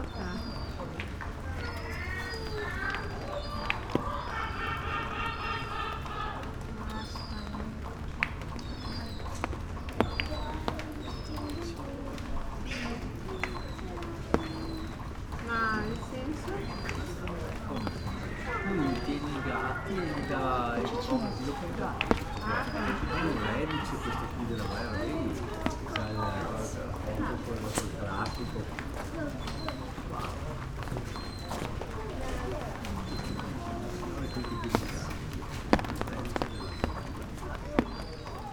rain 0:00.0 - 0:23.3
seagulls 0:00.1 - 0:38.5

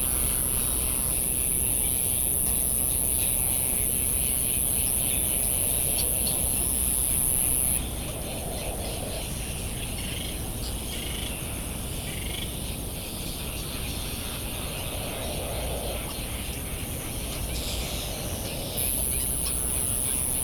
generators kicking in and out 0:00.0 - 0:07.8
cricket ticking away the seconds 0:00.0 - 0:07.8
calls and flight calls of Bonin Petrel 0:00.0 - 0:07.8
cricket ticking away the seconds 0:18.8 - 0:20.4
generators kicking in and out 0:18.8 - 0:20.4

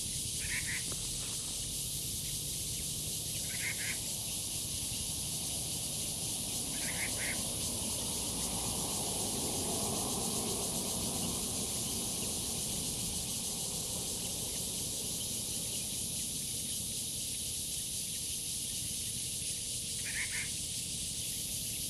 Cicadas sounds 0:00.0 - 0:21.8
bird calls 0:00.4 - 0:01.2
bird calls 0:02.2 - 0:04.1
bird calls 0:06.7 - 0:07.4
bird calls 0:20.0 - 0:20.6

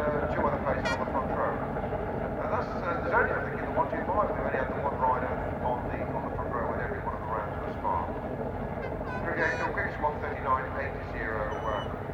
commentary 0:00.0 - 0:08.2
commentary 0:08.8 - 0:12.1

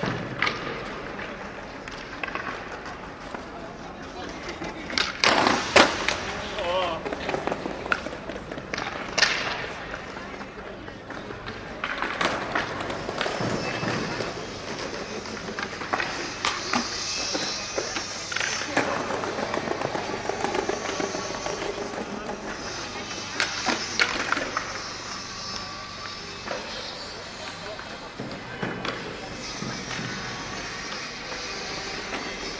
skater 0:00.0 - 0:32.5

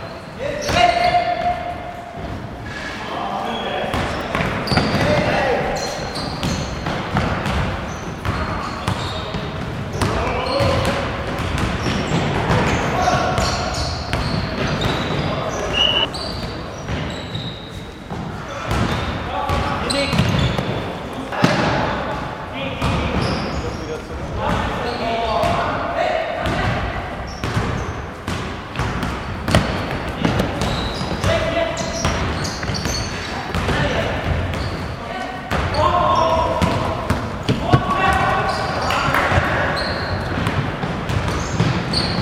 gym hall basketball match 0:00.0 - 0:42.2

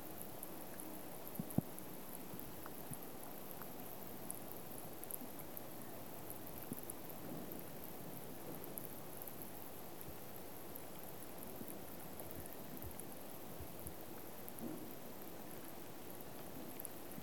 Soft rain drops over lake 0:00.0 - 0:17.2

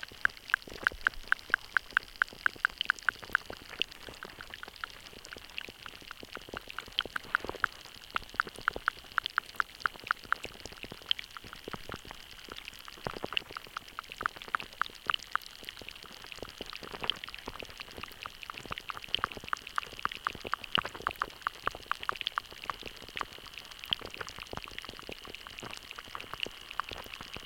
small shallow stream 0:00.0 - 0:27.4
underwater life 0:00.0 - 0:27.4

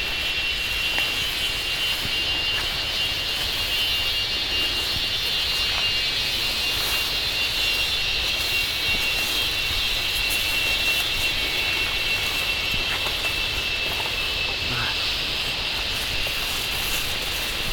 Killer cicadas, immensely shrieking 0:00.0 - 0:17.7

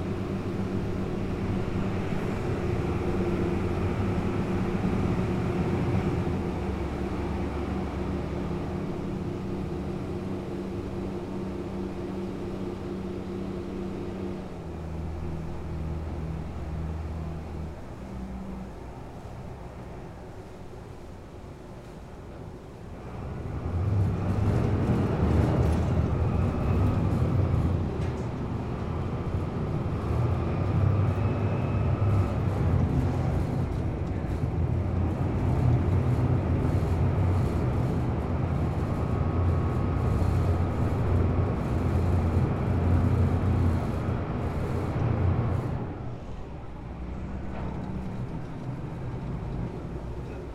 Noisy Ferry Crossing 0:00.0 - 0:50.5

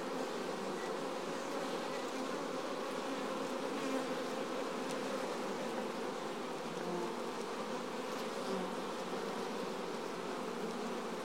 wild bees 0:00.0 - 0:11.2

